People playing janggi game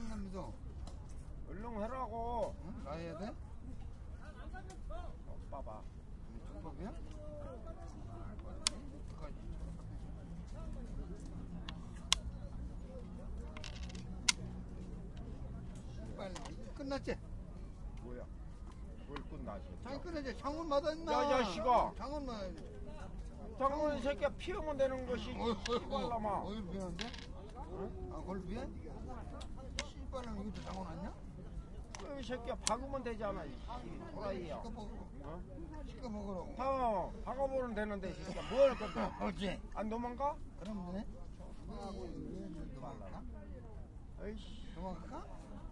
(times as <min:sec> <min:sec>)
0:10.5 0:15.2, 0:19.9 0:31.2